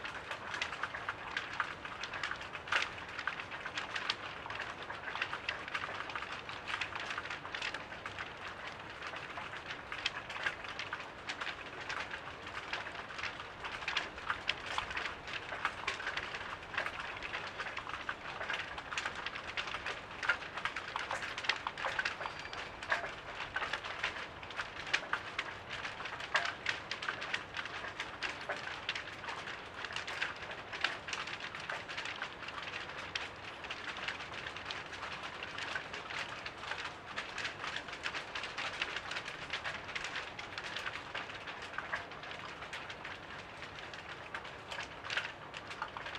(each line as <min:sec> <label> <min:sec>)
0:00.0 Flapping flags on the wind 0:46.1